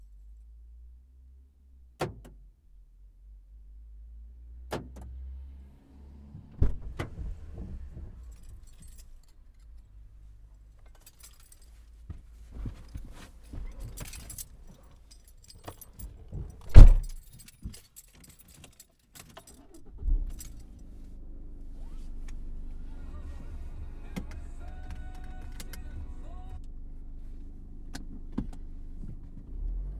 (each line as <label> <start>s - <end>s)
quiet engine 0.0s - 29.9s
Driver unlocks the car 2.0s - 2.4s
Driver unlocks the car 4.7s - 5.2s
Driver unlocks the car 6.5s - 9.8s
door 6.6s - 7.6s
Driver unlocks the car 10.8s - 20.9s
starts the car 15.7s - 17.2s
door 16.4s - 17.2s
starts the car 19.4s - 29.9s
Driver unlocks the car 21.8s - 26.7s